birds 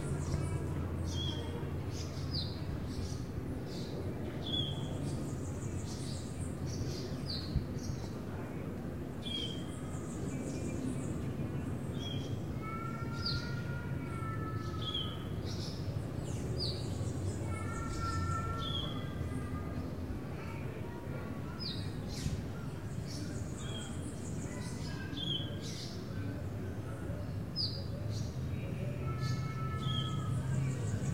9.2s 31.1s

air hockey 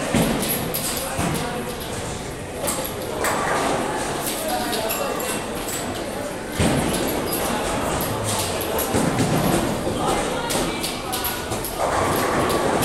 6.5s 12.8s

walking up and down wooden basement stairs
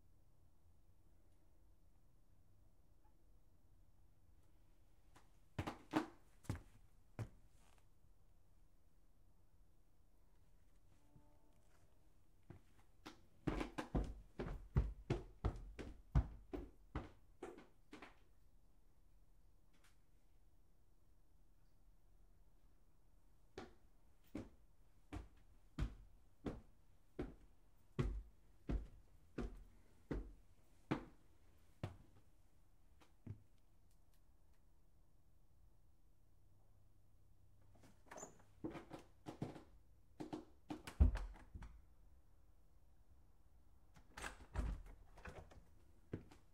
5.0s 7.8s, 12.4s 18.4s, 23.5s 32.3s, 37.6s 42.0s, 43.9s 46.5s

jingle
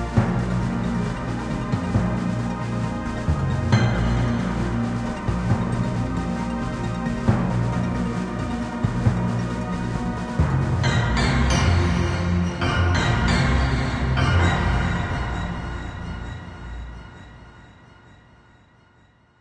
10.8s 18.6s

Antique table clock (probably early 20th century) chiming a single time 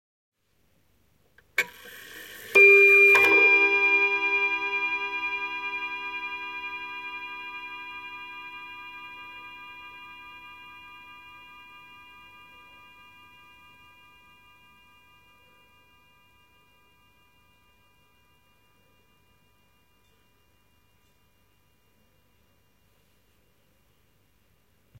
1.6s 14.1s

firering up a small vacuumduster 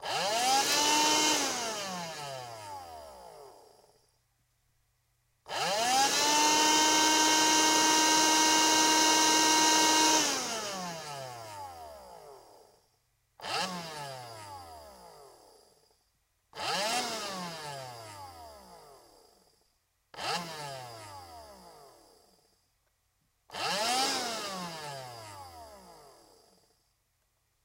0.0s 4.1s, 5.5s 12.8s, 20.2s 22.5s, 23.5s 26.7s

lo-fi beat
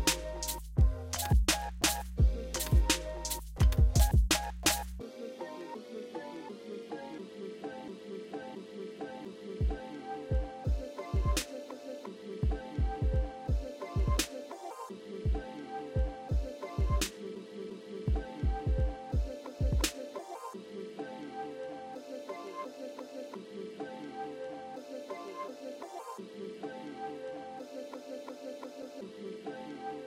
0.0s 5.0s, 9.6s 11.8s, 12.4s 17.2s, 18.1s 20.2s

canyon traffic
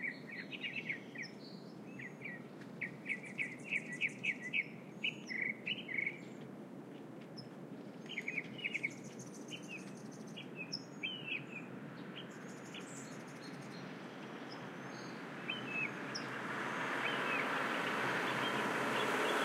13.5s 19.4s

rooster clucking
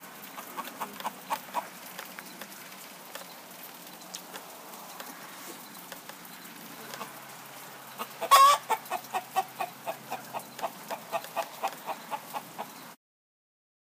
0.2s 2.0s, 6.7s 13.0s

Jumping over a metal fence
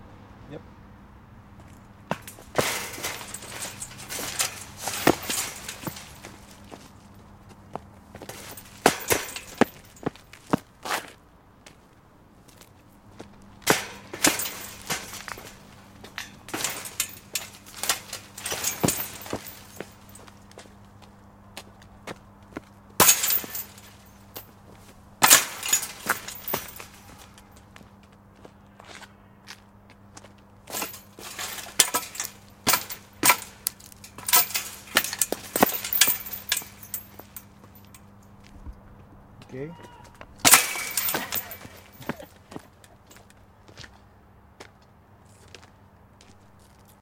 1.6s 11.1s, 12.5s 20.8s, 22.1s 27.8s, 30.2s 38.7s, 39.6s 43.3s

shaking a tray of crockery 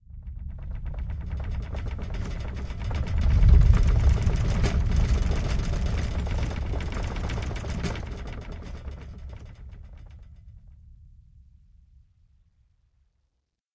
0.6s 10.0s

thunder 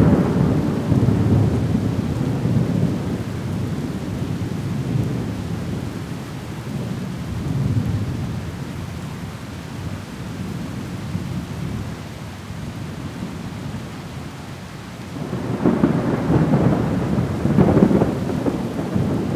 0.0s 5.9s, 15.2s 19.3s

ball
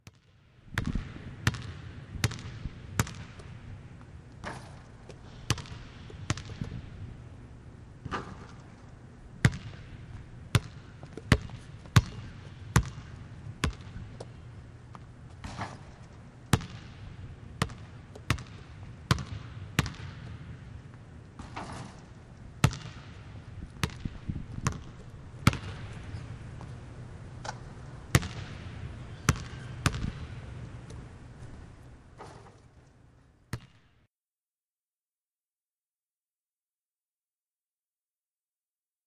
0.0s 3.5s, 4.4s 6.9s, 8.0s 8.8s, 9.4s 17.0s, 21.4s 26.7s, 27.4s 31.0s, 33.5s 33.9s

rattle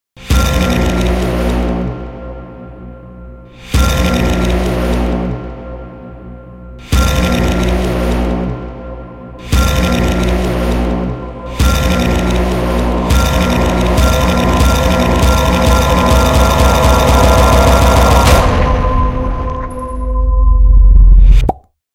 11.5s 18.4s

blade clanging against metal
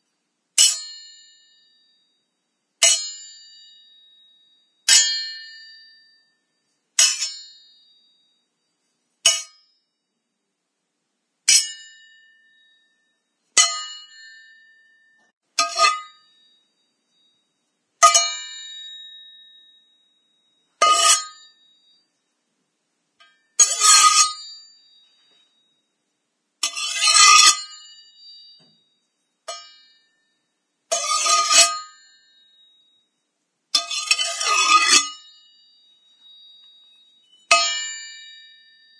0.6s 1.2s, 2.8s 3.6s, 7.0s 7.6s, 9.2s 9.6s, 13.6s 16.4s, 20.8s 21.6s, 23.2s 24.7s, 26.6s 28.6s, 29.5s 30.1s, 30.9s 32.2s, 33.8s 35.5s, 37.5s 38.6s

